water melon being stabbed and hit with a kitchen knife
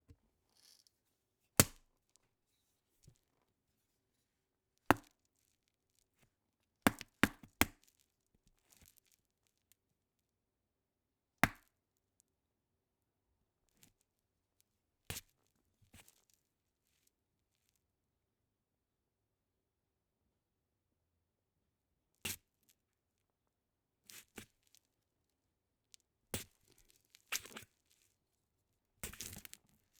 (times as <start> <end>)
1.6 1.8